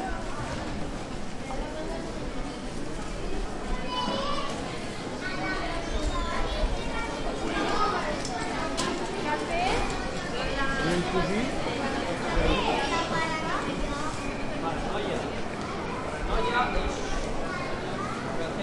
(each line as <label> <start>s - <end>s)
people 0.0s - 18.6s